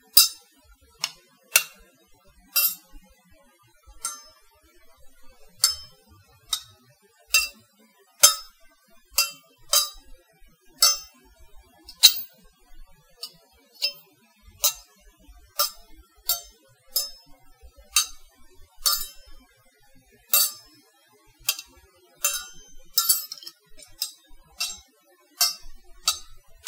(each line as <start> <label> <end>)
0.1 butter knives clinking together 0.4
1.0 butter knives clinking together 1.8
2.5 butter knives clinking together 2.9
4.0 butter knives clinking together 4.4
5.6 butter knives clinking together 7.6
8.2 butter knives clinking together 8.6
9.2 butter knives clinking together 10.0
10.8 butter knives clinking together 11.2
11.9 butter knives clinking together 12.3
13.2 butter knives clinking together 14.0
14.6 butter knives clinking together 14.8
15.6 butter knives clinking together 17.3
17.9 butter knives clinking together 18.2
18.8 butter knives clinking together 19.4
20.3 butter knives clinking together 20.7
21.5 butter knives clinking together 26.6